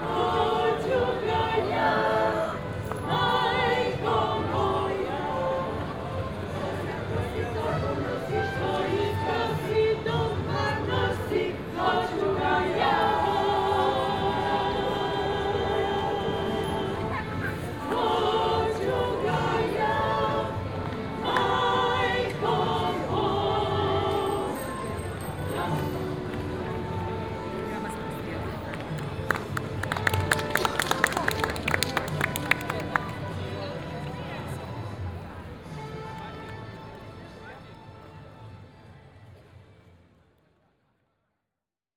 0.0s choir 28.1s
0.0s some other band on the other square in the background 40.2s

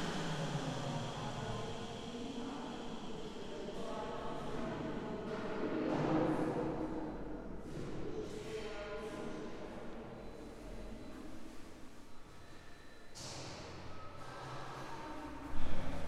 0.0s voices 6.4s

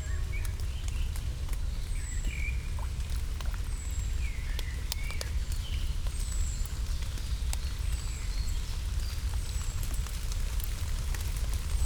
0.0s very light flow of a little water stream 11.8s
4.5s light rain 11.8s

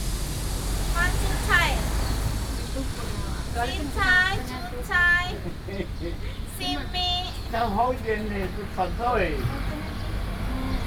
0.9s Chat 10.0s

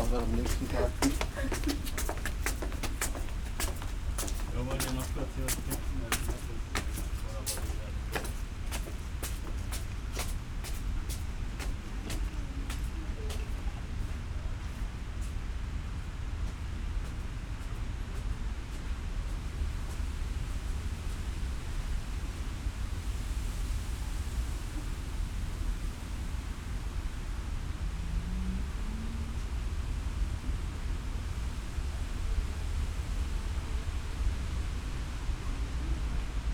0.0s steps of visitors 21.3s

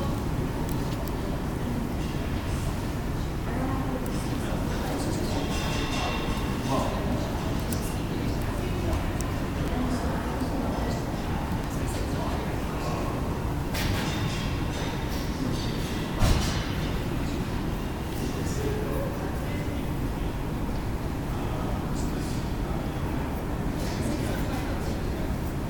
0.0s students passing by and chatting with friends 16.2s

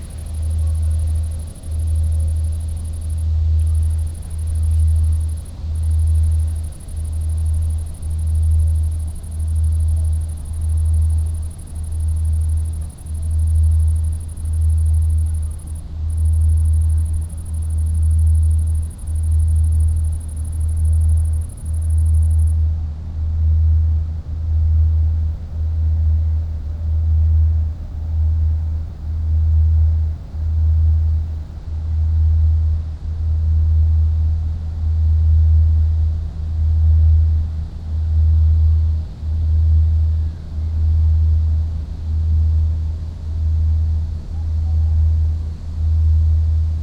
0.0s a cricket close 22.7s
0.0s rythmic ship drone 46.8s
0.0s wind 46.8s
24.6s a cricket close 31.6s

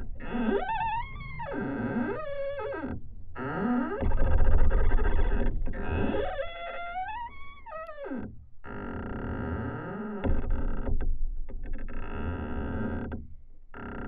0.0s squeaking pine tree 10.1s

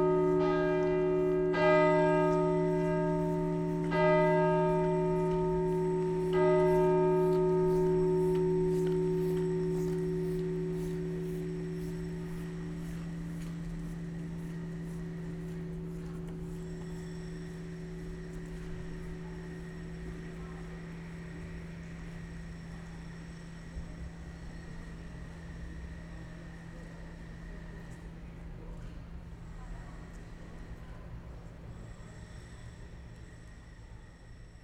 0.0s bells of St. Nikolaja cathedral 28.2s

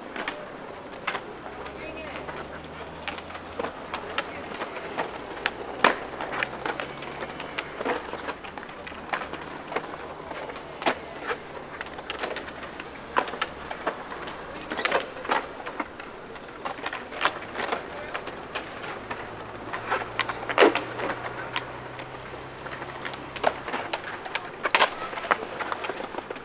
0.0s Skaters rolling 26.4s
0.0s traffic 26.4s

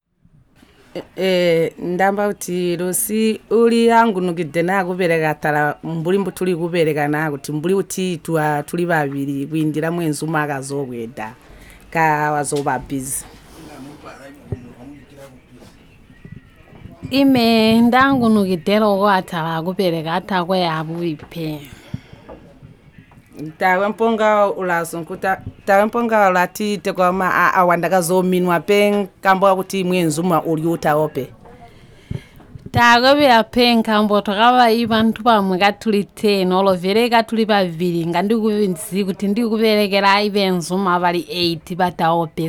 0.4s record interviews with each other 42.4s

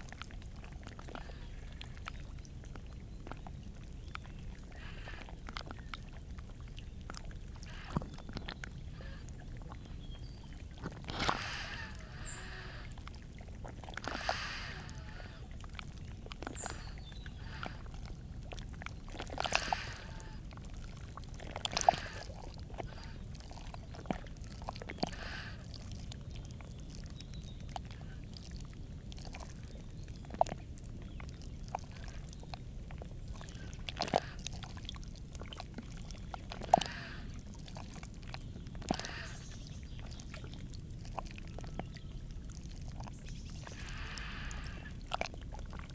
0.0s waves 45.9s

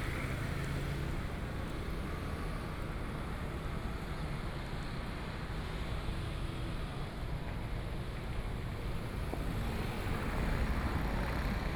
8.2s Traffic 11.7s

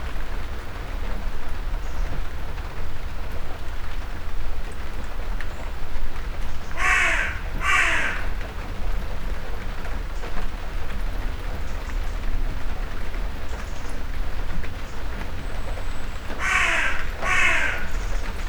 0.0s shower of rain 18.4s
6.8s crows 8.4s
16.4s crows 18.2s

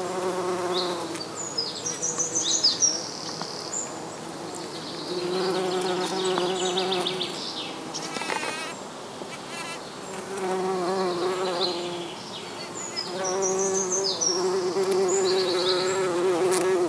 0.0s Bumble Bees feeding on a yellow flowered shrub 16.8s

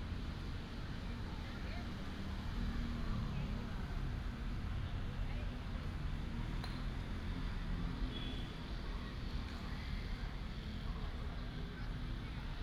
0.0s traffic sound 12.6s

